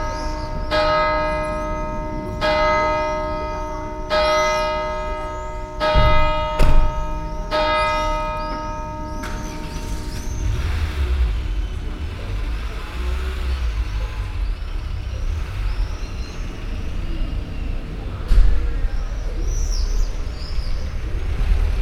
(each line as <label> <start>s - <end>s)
bells 0.0s - 21.8s